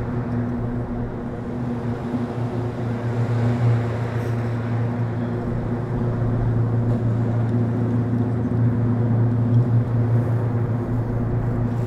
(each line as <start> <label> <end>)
0.0 Sea waves 11.8